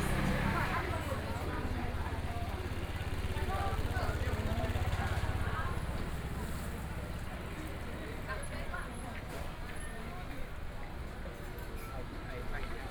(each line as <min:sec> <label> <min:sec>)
0:00.0 Traffic Sound 0:07.9
0:00.0 Walking through the market 0:12.9